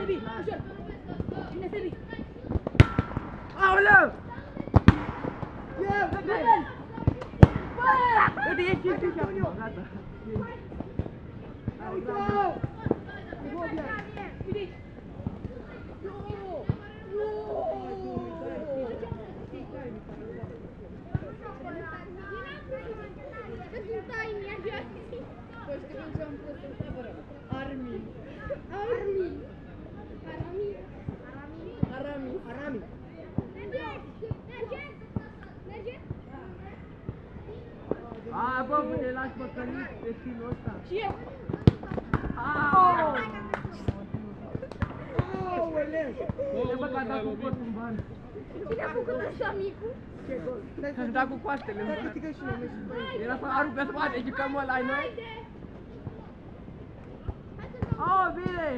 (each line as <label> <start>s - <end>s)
Kids Playing Football 0.0s - 58.7s